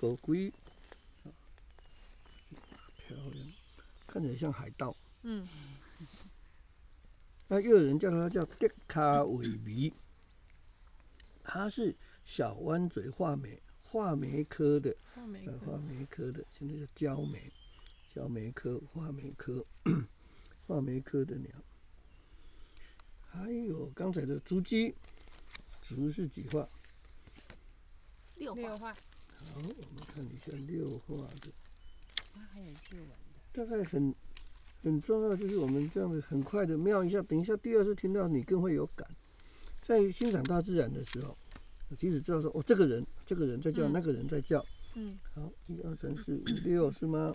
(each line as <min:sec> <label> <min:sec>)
0:00.0 Bird sounds 0:27.6
0:28.4 Bird sounds 0:47.3